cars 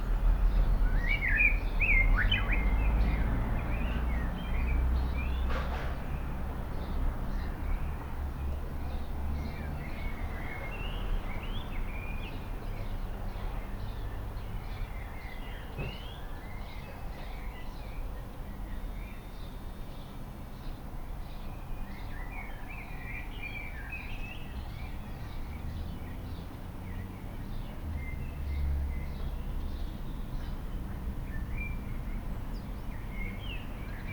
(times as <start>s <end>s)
24.5s 34.1s